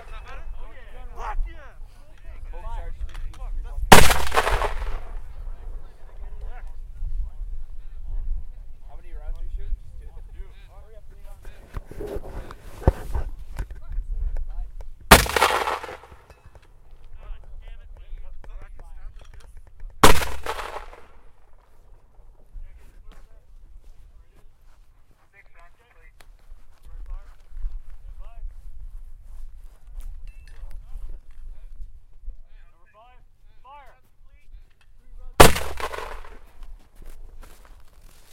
3.9s mortars firing multiple rounds 5.4s
15.1s mortars firing multiple rounds 16.6s
20.0s mortars firing multiple rounds 21.4s
35.4s mortars firing multiple rounds 36.7s

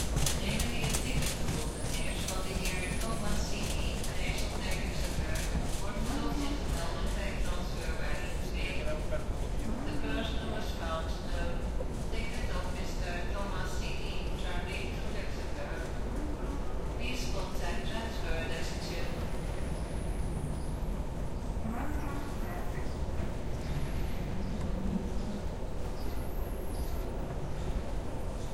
0.0s rolling suitcases 13.0s

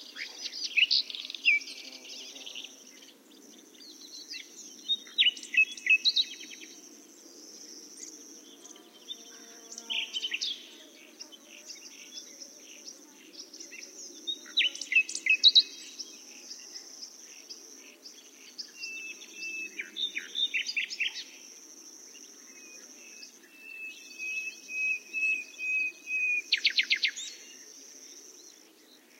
0.0s Nightingale 29.1s
0.0s cicadas 29.1s

